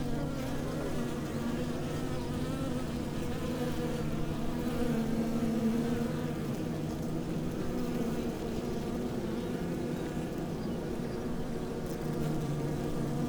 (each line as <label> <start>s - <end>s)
undisturbed bees 0.0s - 13.2s